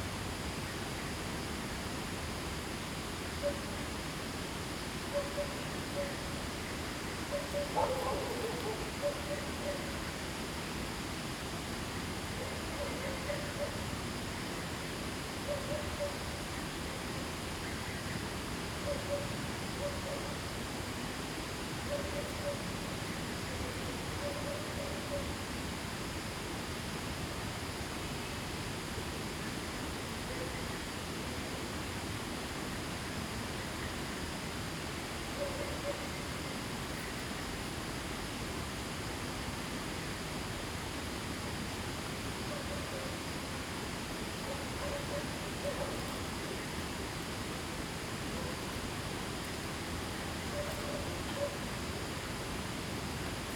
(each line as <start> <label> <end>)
7.5 Dogs barking 9.8